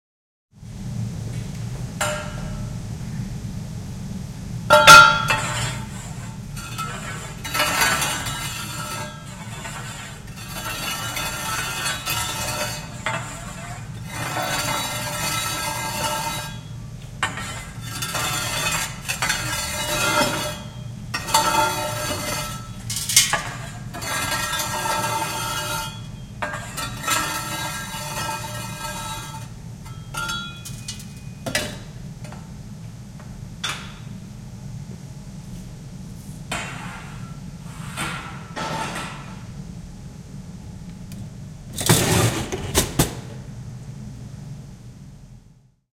4.7s collecting ashes from the cremator with a metal rake 31.8s

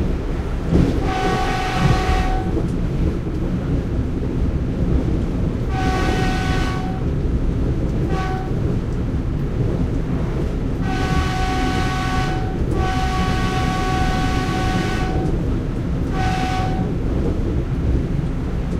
0.0s train 18.7s

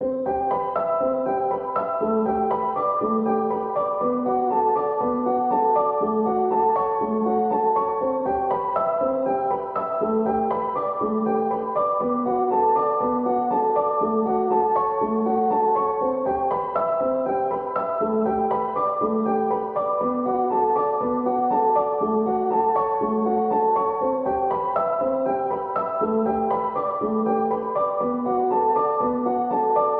0.0s piano 29.9s

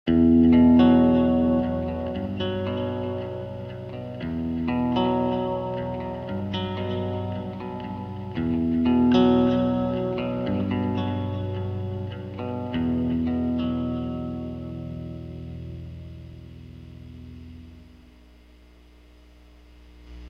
0.1s guitar 20.2s

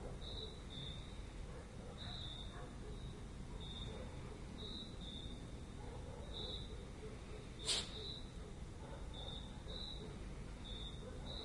0.0s crickets 11.4s
1.4s dogs 4.5s
5.7s dogs 10.3s
10.9s dogs 11.4s

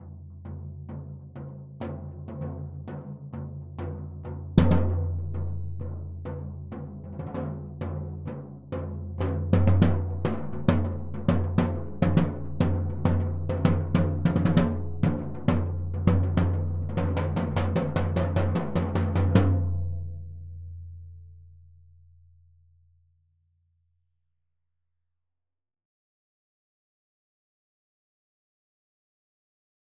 4.6s floor Tom-loose beats 6.2s

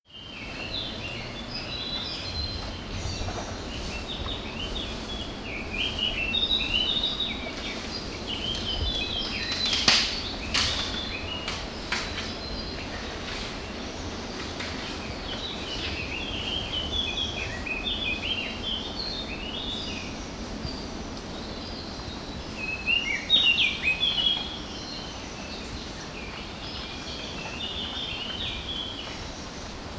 0.0s birds 29.9s

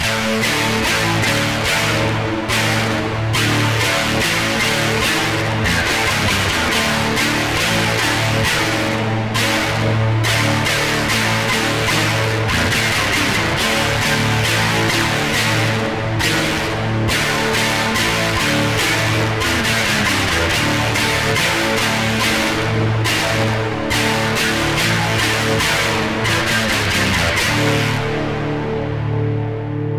0.0s Guitar 29.9s

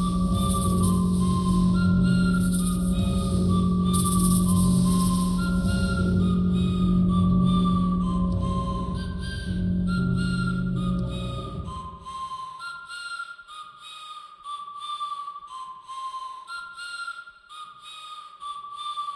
0.0s synth 12.2s

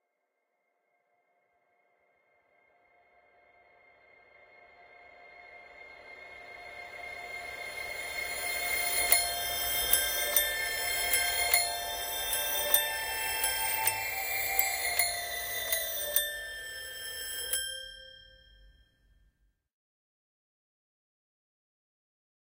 7.9s toy piano 18.8s

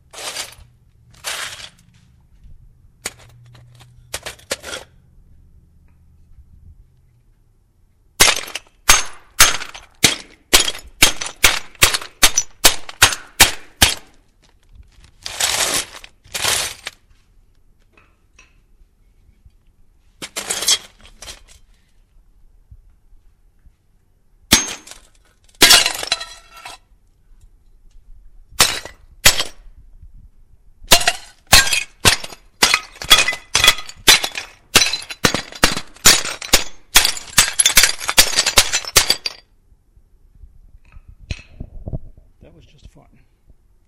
0.0s smashing and raking ceramic tiles 1.8s
20.2s smashing and raking ceramic tiles 21.7s
24.6s smashing and raking ceramic tiles 26.8s
30.9s smashing and raking ceramic tiles 39.4s
42.4s my commentary on the process 43.4s

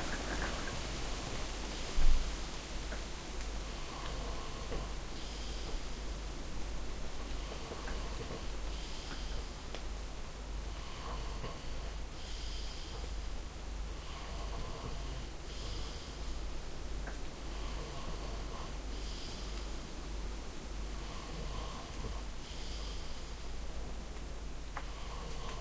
0.0s wind is moving the trees 10.7s
0.0s rain on the roof of the cottage 14.0s
3.8s breath 5.9s
7.4s breath 9.6s
10.7s breath 13.3s
14.0s breath 16.4s
14.6s rain on the roof of the cottage 21.1s
17.5s breath 19.7s
21.0s breath 23.5s
21.8s rain on the roof of the cottage 25.6s

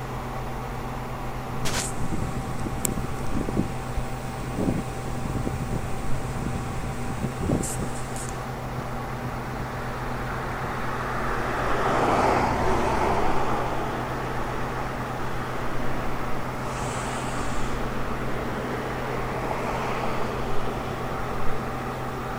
0.0s Hum 11.9s
0.0s Traffic 22.3s
12.6s Hum 22.3s

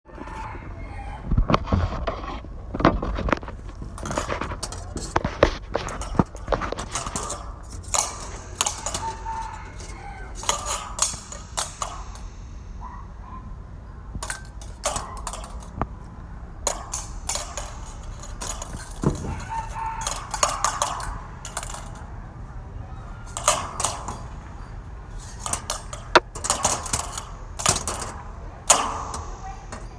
3.9s Wire hit long metal pipe 13.2s
14.1s Wire hit long metal pipe 15.9s
16.6s Wire hit long metal pipe 22.1s
23.2s Wire hit long metal pipe 29.9s

